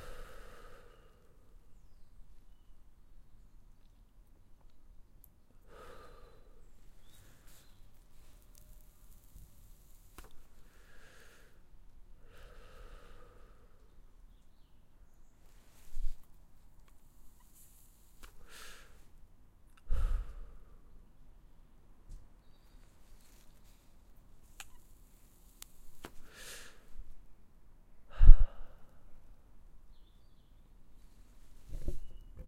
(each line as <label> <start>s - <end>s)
lighting a cigarette and smoking it 7.6s - 10.4s
lighting a cigarette and smoking it 24.4s - 26.3s